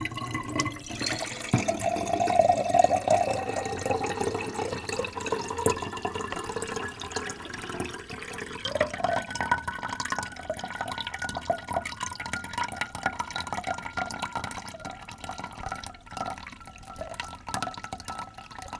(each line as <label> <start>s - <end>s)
water is poured into a glass from the tap 0.0s - 18.7s